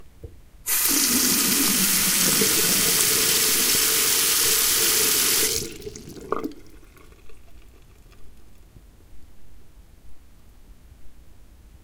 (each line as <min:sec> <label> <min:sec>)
0:00.7 Water going down the drain 0:08.9